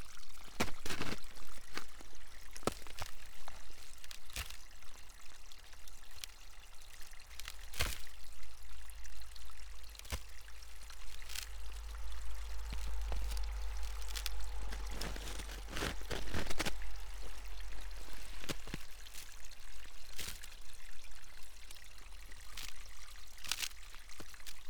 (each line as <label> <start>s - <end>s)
stream 0.0s - 24.6s